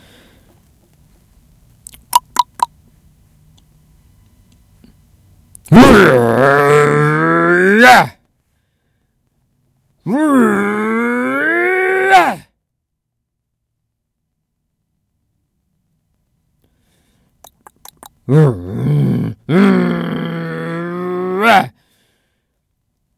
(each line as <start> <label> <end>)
5.7 Angry man emotions reactions 8.1
10.0 Angry man emotions reactions 12.5
18.3 Angry man emotions reactions 21.7